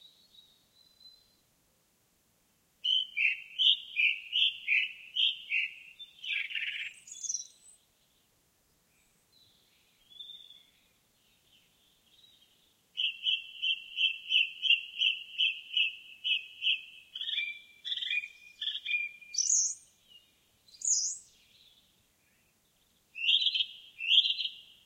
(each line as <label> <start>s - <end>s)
song thrush 0.0s - 1.5s
song thrush 2.8s - 24.8s